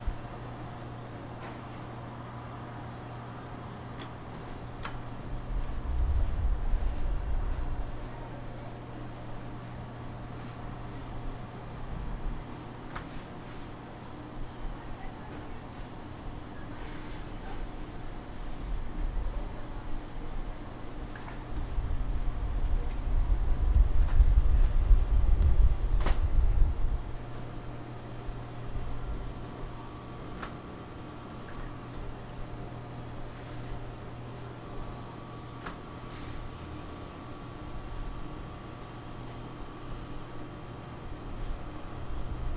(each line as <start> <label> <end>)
0.0 Appliance hums 42.5